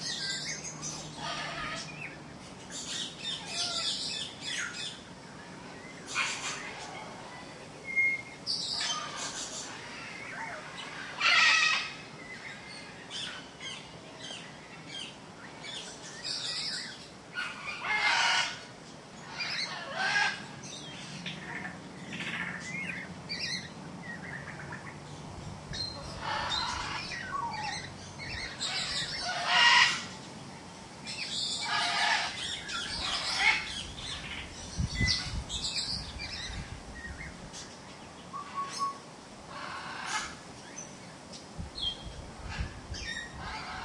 macaws 0:00.0 - 0:05.0
macaws 0:06.0 - 0:07.5
macaws 0:08.5 - 0:25.0
ring-necked parakeet 0:25.7 - 0:30.1
macaws 0:25.8 - 0:30.3
macaws 0:31.1 - 0:34.4
ring-necked parakeet 0:31.1 - 0:34.4
macaws 0:38.4 - 0:40.8
macaws 0:42.4 - 0:43.8

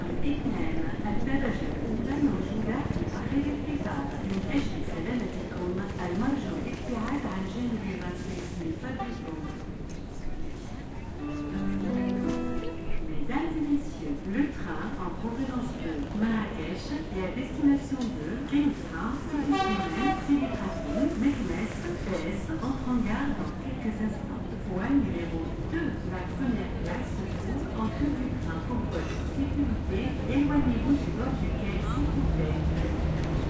train 0:00.0 - 0:33.4
announcement 0:11.2 - 0:15.2
announcement 0:19.1 - 0:23.4

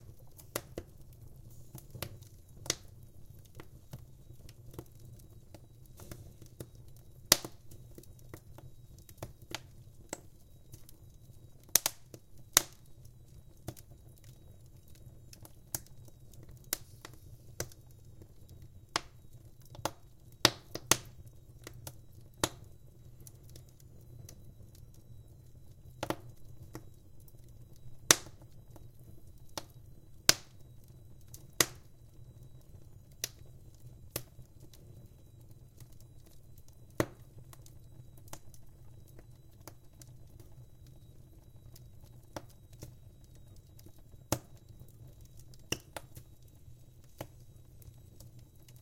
Wood burning in my old stove 0:00.0 - 0:48.8

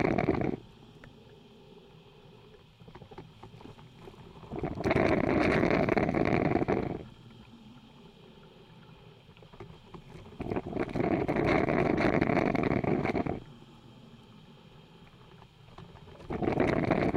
coffee brewing with an old filter machine 0:00.0 - 0:00.6
coffee brewing with an old filter machine 0:03.0 - 0:07.1
coffee brewing with an old filter machine 0:09.6 - 0:13.5
coffee brewing with an old filter machine 0:15.7 - 0:17.1

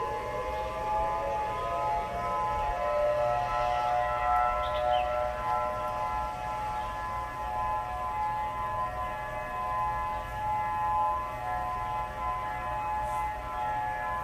Sirens heard in recording 0:00.0 - 0:14.2

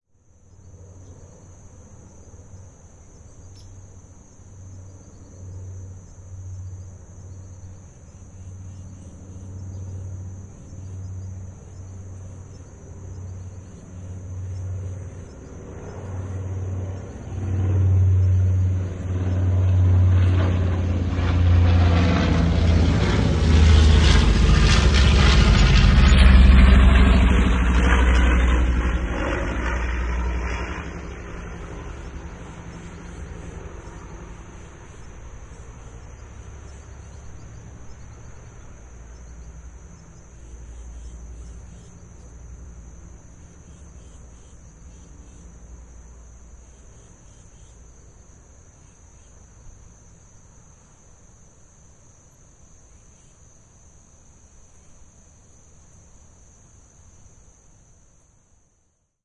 distant traffic 0:00.3 - 0:58.4
twin engine bomber passing overhead from right to left 0:00.6 - 0:50.1
birdsong 0:02.0 - 0:03.8
birdsong 0:04.8 - 0:20.4
birdsong 0:31.3 - 0:42.4

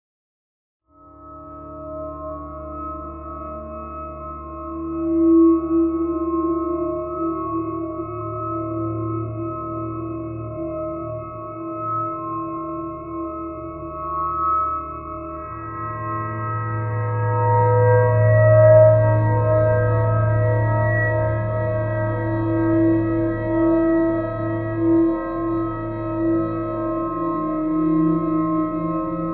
synthesized 0:14.9 - 0:29.3

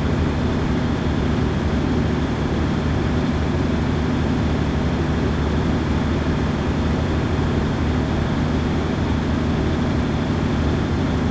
large electricity generator 0:00.0 - 0:11.3

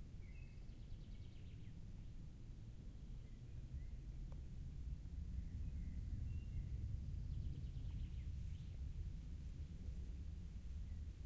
birds 0:00.0 - 0:02.1
aircraft 0:00.0 - 0:11.2
wind 0:00.0 - 0:11.2
birds 0:05.2 - 0:08.8

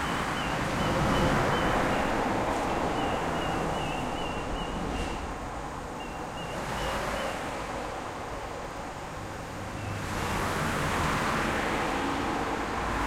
cars passing overhead 0:00.0 - 0:13.0

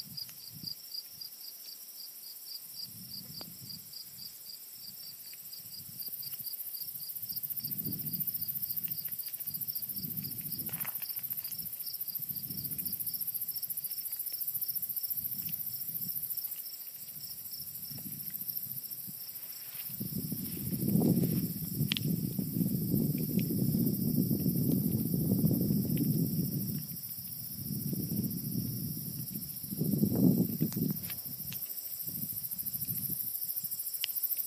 crickets 0:00.0 - 0:34.4

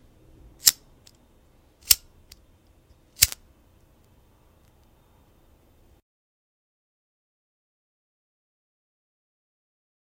lighter 0:03.2 - 0:03.4
match 0:03.2 - 0:03.4

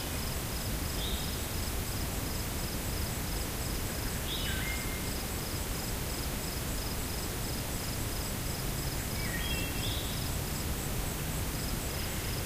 stream winding through the grass 0:00.0 - 0:04.0
crickets 0:00.0 - 0:12.4

